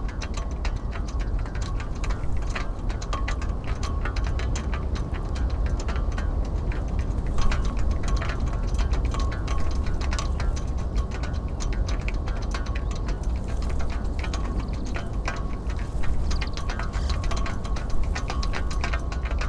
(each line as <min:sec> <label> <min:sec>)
0:00.0 Ropes banging against metal flagpoles 0:19.4
0:00.0 moderate north wind 0:19.4